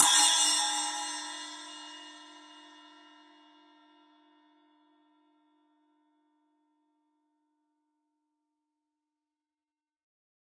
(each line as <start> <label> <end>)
0.0 Bell/Splash cymbal 4.7